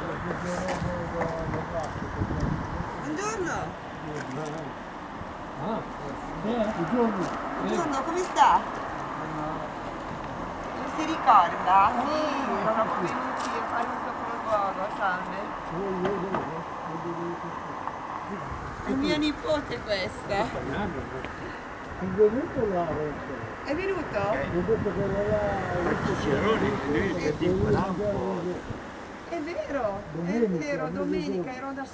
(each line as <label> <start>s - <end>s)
people talk quitely on a bench 0.0s - 31.9s